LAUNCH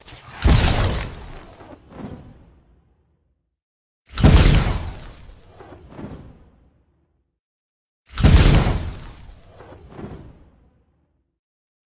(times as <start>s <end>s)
0.0s 2.8s, 4.1s 6.5s